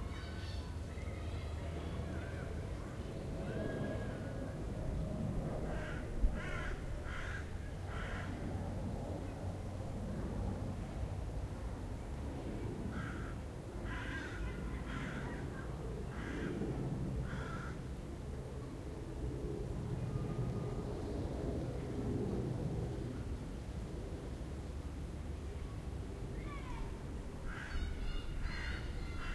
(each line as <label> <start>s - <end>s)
jet 1.7s - 13.9s
jet 14.6s - 27.4s